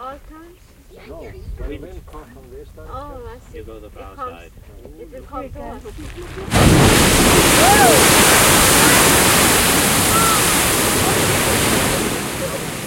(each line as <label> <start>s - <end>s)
geyser erupting twice 6.3s - 12.8s